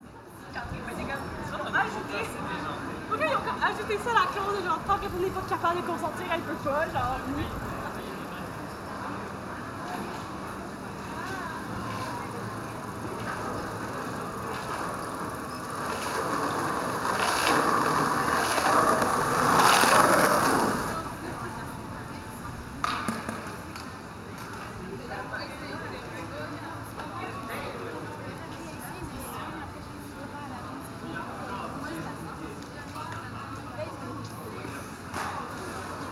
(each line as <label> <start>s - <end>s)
Busy street 0.0s - 36.1s
chatter 0.0s - 36.1s
skater 14.0s - 21.1s